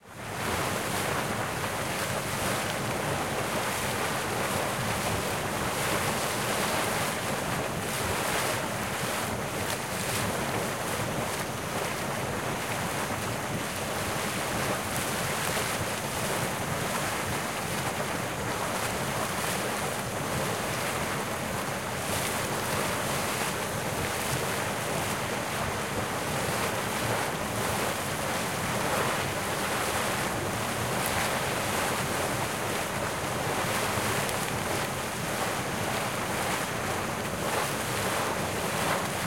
water 0.0 - 39.2
waves 0.0 - 39.2

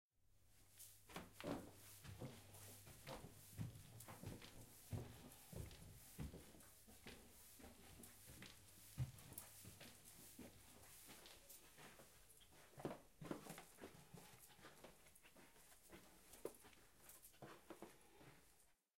Ascending Staircase Interior Carpet 0.4 - 18.9

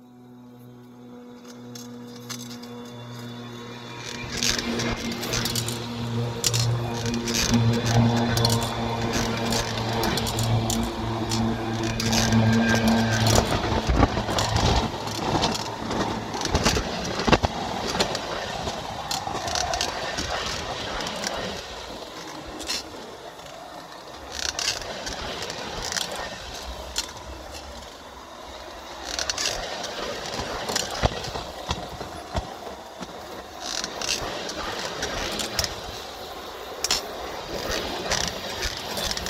Train 0.0 - 39.2

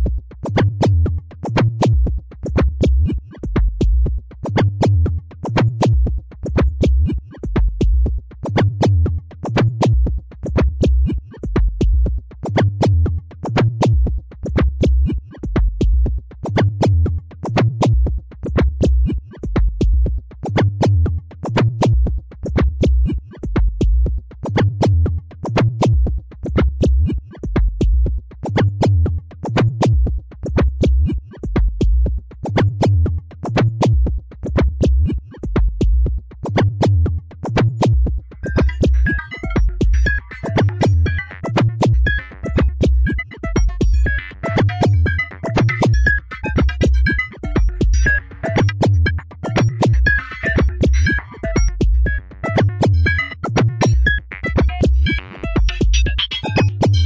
synthesizer 37.8 - 57.0

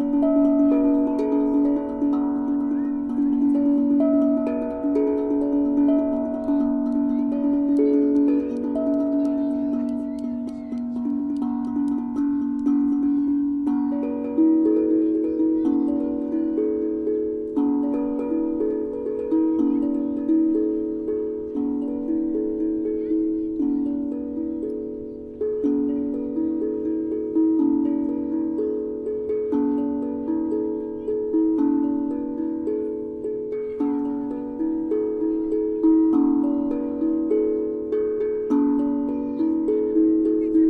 Steel Tongue Drum played by Cicada 0.0 - 40.6

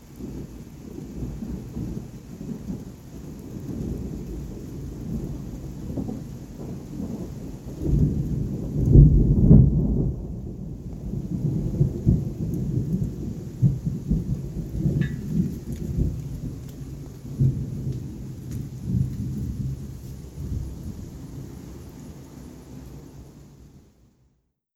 muffled lfe thunder rumble 0.0 - 23.4

